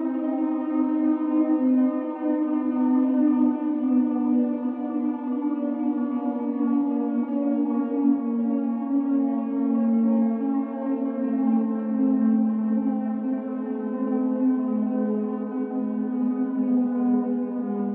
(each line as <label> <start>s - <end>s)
siren 0.0s - 17.9s